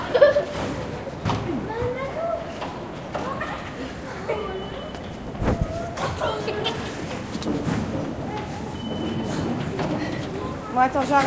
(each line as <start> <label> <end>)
0.4 exit doors 11.2